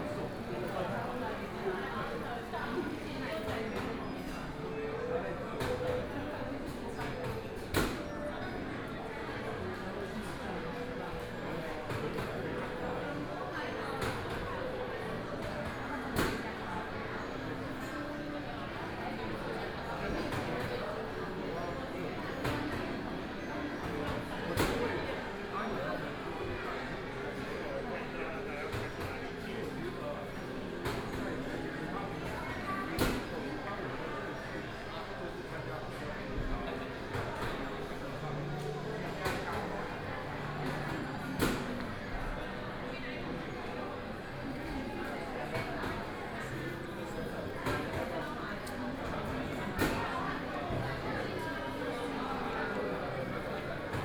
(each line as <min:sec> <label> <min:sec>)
0:00.0 crowd 0:54.0